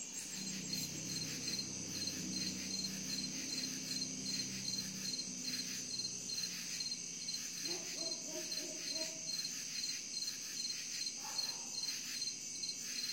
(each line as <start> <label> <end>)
0.0 crickets 13.1